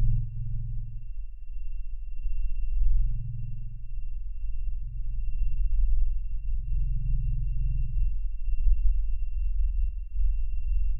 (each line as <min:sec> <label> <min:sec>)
0:00.0 low bassy rumbly 0:01.2